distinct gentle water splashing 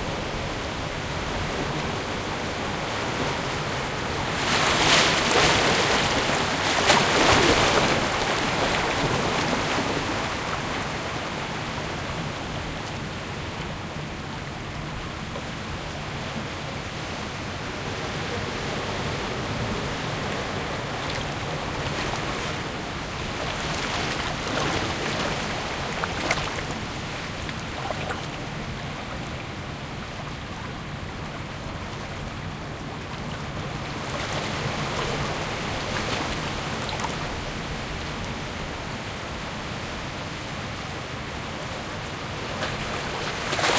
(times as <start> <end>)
20.4 38.4